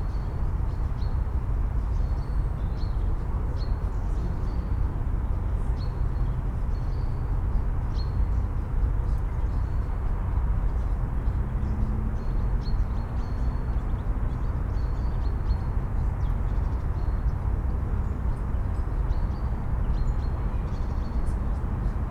0.0s deep city traffic hum 22.1s

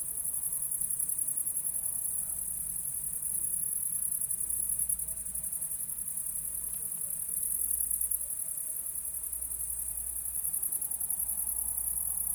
0.0s crickets are singing into the grass 12.3s

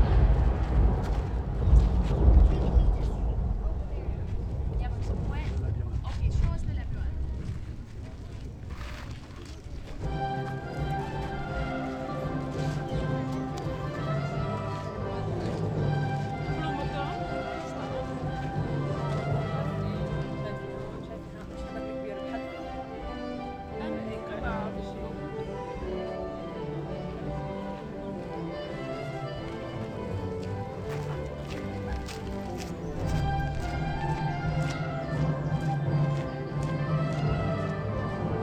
0.0s Tourists 38.4s
9.8s Music playing in one of the groves 38.4s

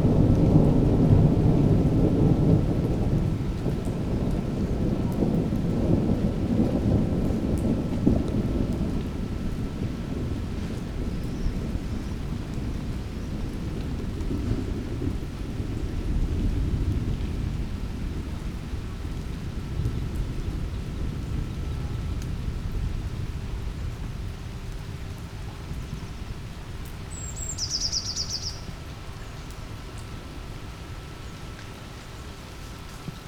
0.0s rain drops sliding from leaves 33.2s
27.1s bird calls 29.5s

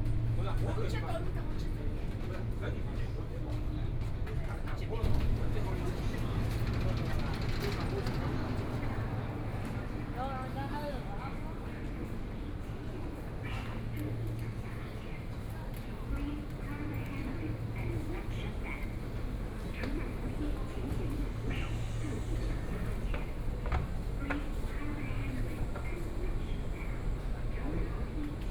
0.0s Walking inside the station 28.5s

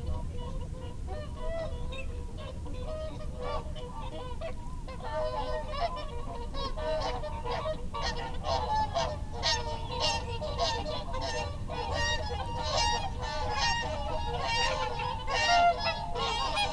0.0s background noise 16.7s
4.9s barnacle geese 16.7s
6.6s curlew 16.7s

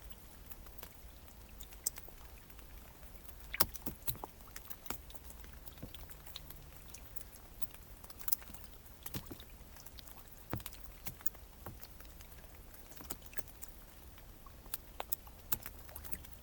0.3s water drops are falling on partly melted ice 16.4s

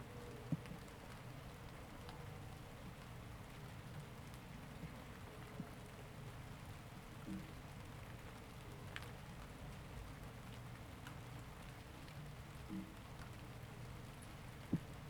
0.0s light rain 15.0s

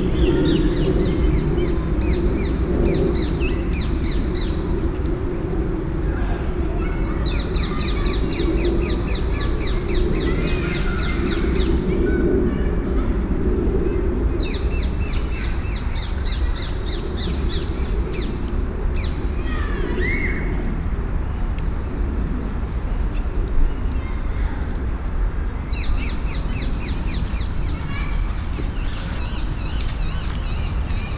6.1s Children playing 13.4s
19.3s Children playing 20.8s
23.7s Children playing 31.1s
26.2s people wandering 31.1s

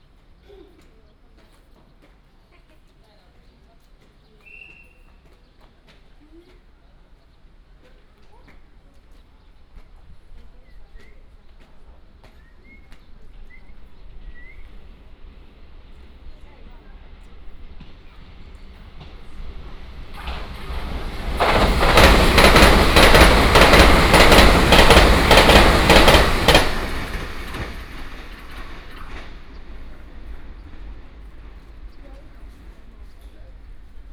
1.4s The train arrived at the station 34.1s
7.3s The train passed 34.1s

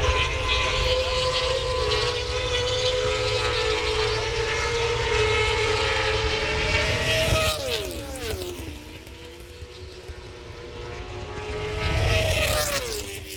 0.0s motorcycle grand prix 13.3s

